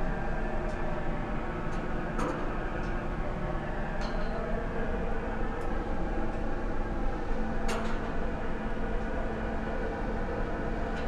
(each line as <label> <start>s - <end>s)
noisy exhaust on a yellow building 0.0s - 11.0s